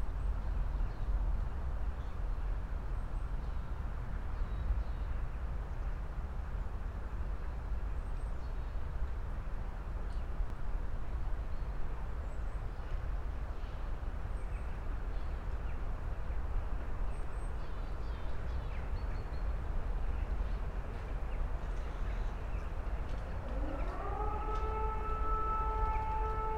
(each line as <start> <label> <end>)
23.0 testing the sirens 26.5